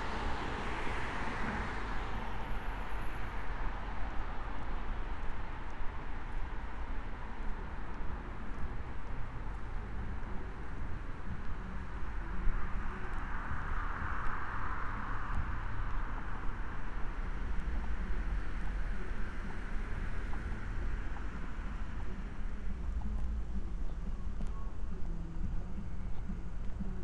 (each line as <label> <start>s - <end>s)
cars 0.0s - 27.0s
cyclists 0.0s - 27.0s